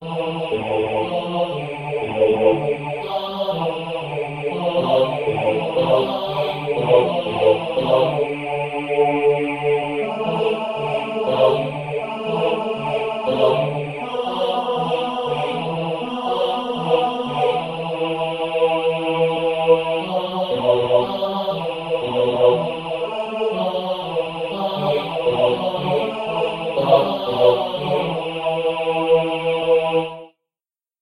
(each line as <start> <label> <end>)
0.0 vocal clip 30.2
0.1 synth 29.9